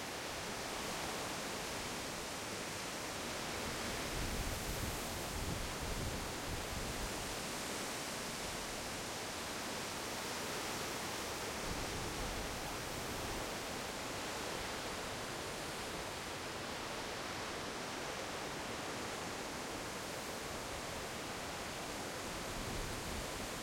wind in the field 0.0 - 23.6

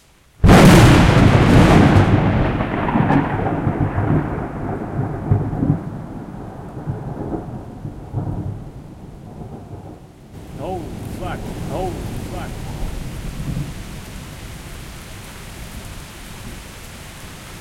rain 0.0 - 17.6
thunderclap 0.4 - 14.1

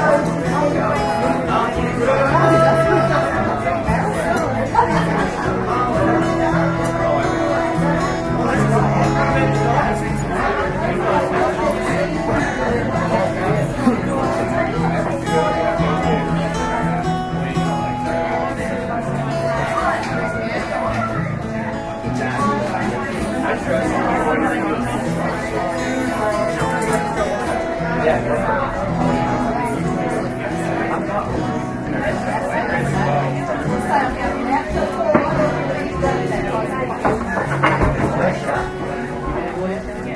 guitar 0.0 - 40.1
lonely singer 0.0 - 40.1

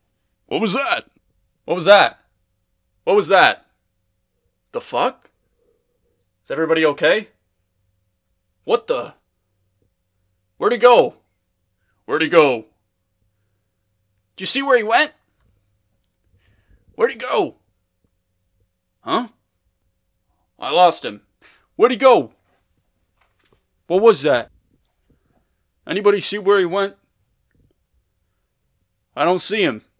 Henchman #2 Voice Lines 0.5 - 1.1
gasp 16.4 - 16.9
Henchman #2 Voice Lines 19.0 - 19.4
gasp 21.4 - 21.7
Henchman #2 Voice Lines 23.9 - 24.5

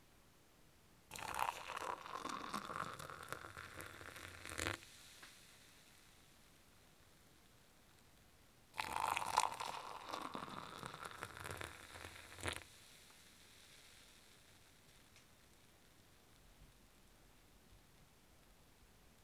Liquid being poured into a glass 1.1 - 4.8
Liquid being poured into a glass 8.8 - 14.0

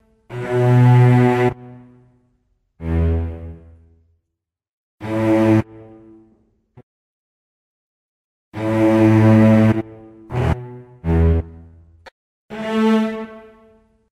strings 0.0 - 2.2
strings 2.8 - 3.9
strings 5.0 - 6.4
strings 8.6 - 14.1

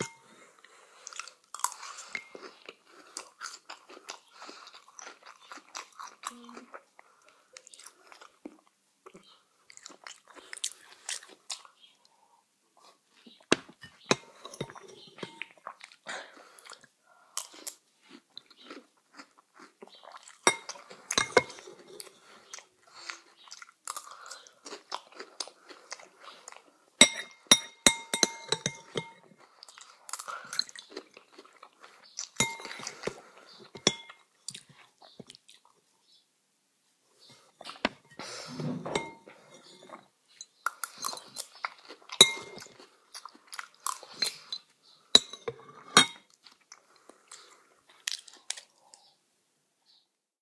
spoon 0.0 - 0.2
eating cereal 0.0 - 11.9
eating cereal 12.8 - 35.9
spoon 13.8 - 15.5
spoon 20.5 - 21.7
spoon 27.0 - 29.3
spoon 32.4 - 33.0
spoon 33.8 - 34.2
eating cereal 37.3 - 49.1
spoon 38.8 - 41.4
spoon 42.2 - 42.8
spoon 45.2 - 46.3

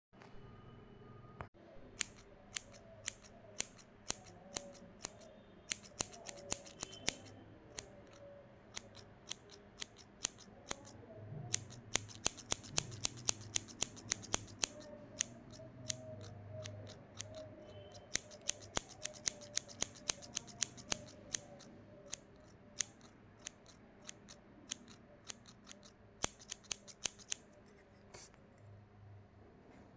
Scissor sound 1.9 - 28.6

